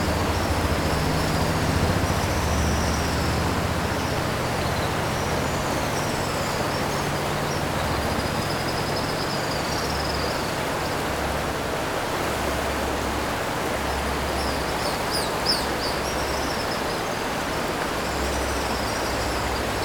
0.0s Traffic Sound 10.0s
0.0s Stream after Typhoon 19.8s

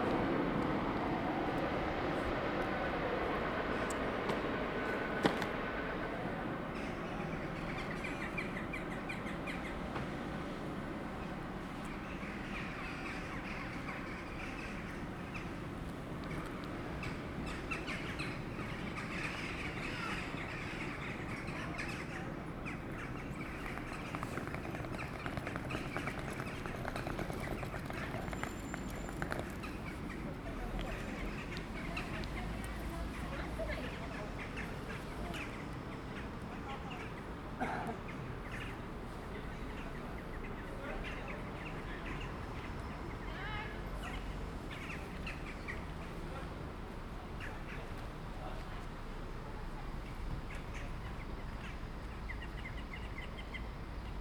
0.0s trains passing 8.4s

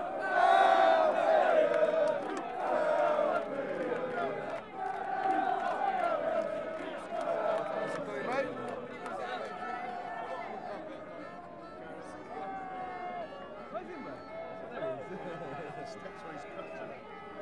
0.0s Fans chanting and singing 13.7s

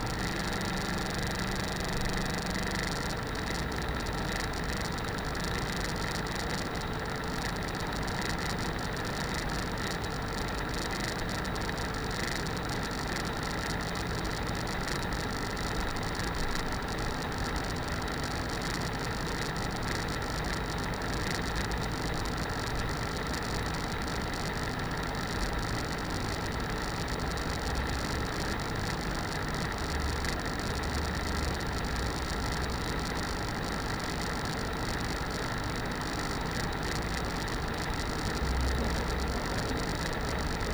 0.0s worn out laptop fan 40.7s

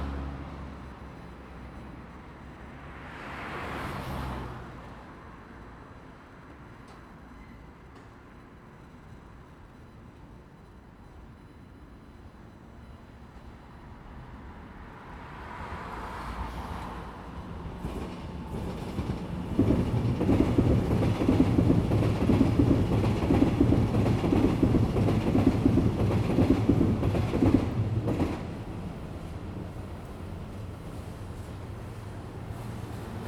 0.0s Traffic sound 6.7s
0.0s the train passes by 33.2s
13.5s Traffic sound 33.2s

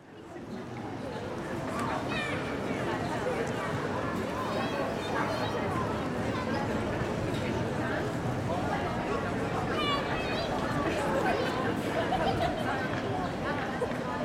0.0s people 14.2s

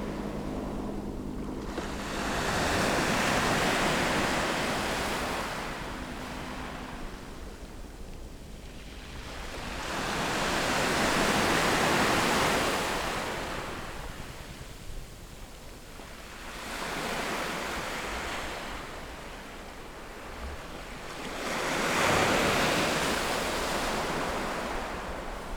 0.0s waves 14.7s
0.0s helicopters 17.9s
15.8s waves 25.5s

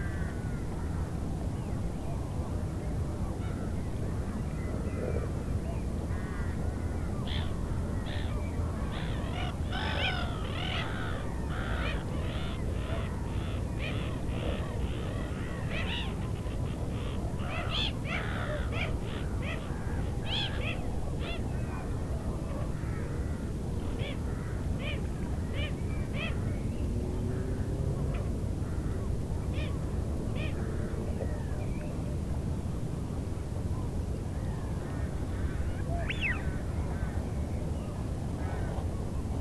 35.9s Wigeon calls 36.5s

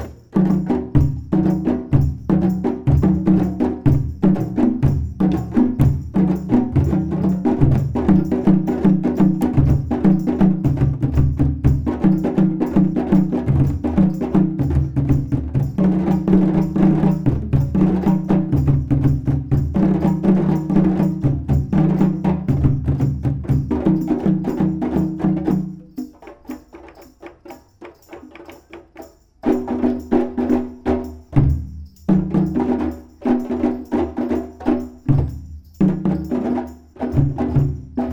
0.0s played djembe 38.1s

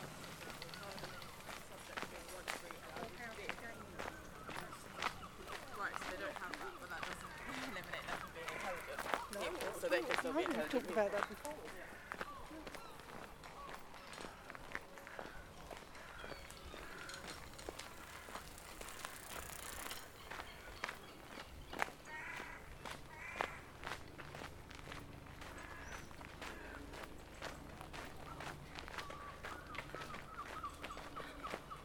0.0s bicycles 31.8s
0.0s birds 31.8s
0.0s walking 31.8s
0.1s human conversation 31.8s

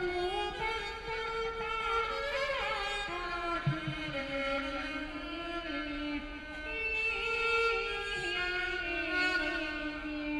0.0s Erhu 10.3s

